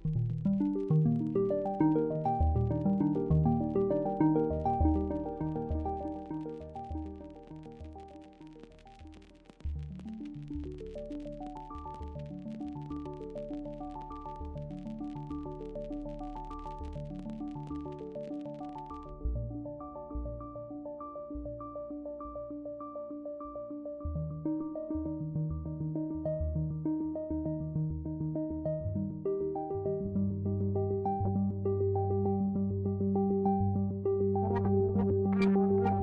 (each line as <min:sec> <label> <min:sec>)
0:00.0 Relaxation music 0:36.0